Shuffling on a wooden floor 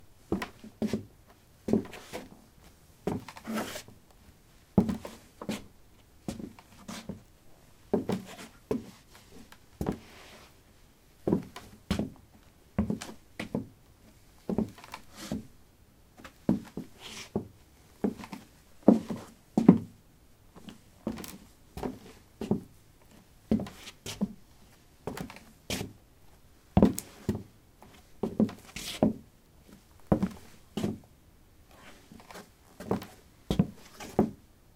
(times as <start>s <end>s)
1.7s 2.3s, 3.1s 4.0s, 7.9s 10.6s, 14.5s 15.5s, 16.2s 19.9s, 26.8s 31.0s, 31.7s 34.4s